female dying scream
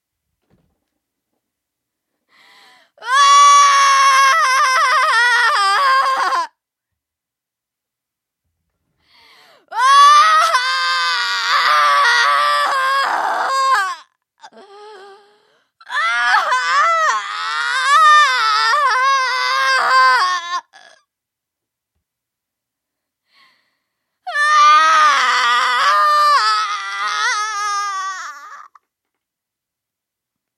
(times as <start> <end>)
3.0 6.5, 9.7 15.2, 15.8 21.0, 24.3 28.8